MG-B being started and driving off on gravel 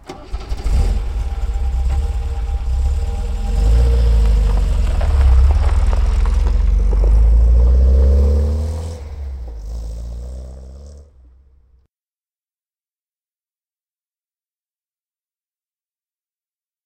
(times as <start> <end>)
0.0 11.8